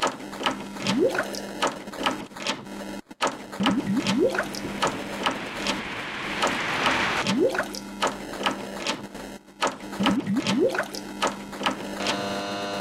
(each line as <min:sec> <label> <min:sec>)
0:00.0 processed washing-machine sound 0:12.0
0:03.6 bubbling 0:06.6